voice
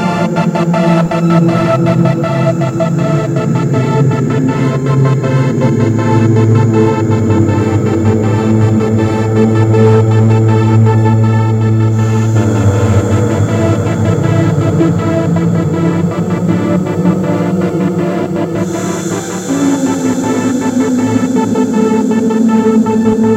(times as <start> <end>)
11.9 17.3